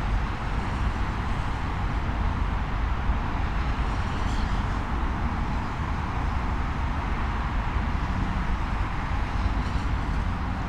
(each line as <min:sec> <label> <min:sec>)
0:00.0 traffic 0:10.6